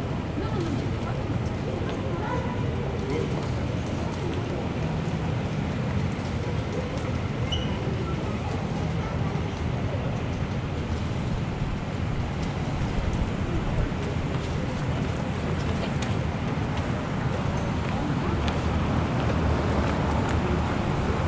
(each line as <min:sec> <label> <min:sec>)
0:00.0 people talking 0:11.5
0:08.1 air conditioning 0:21.2
0:12.2 people talking 0:21.2